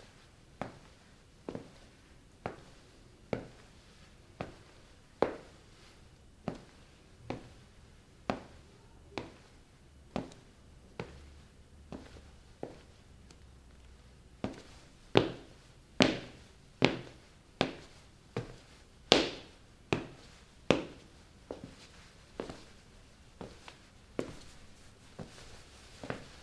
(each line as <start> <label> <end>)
0.0 footsteps walking in room 26.4